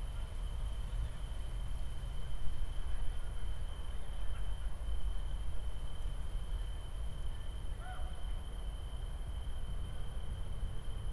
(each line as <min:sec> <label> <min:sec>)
0:00.0 tree crickets 0:11.1